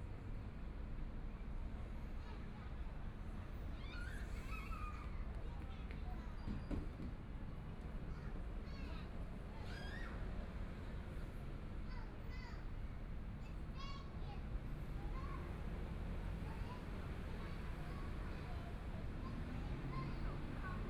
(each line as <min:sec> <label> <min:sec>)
0:03.8 Children and adults 0:20.8
0:10.2 Traffic Sound 0:20.8